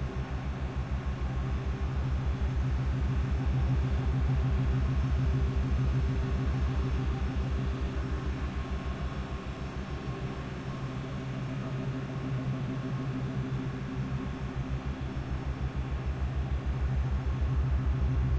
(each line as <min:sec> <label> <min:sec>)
0:00.0 engine 0:18.3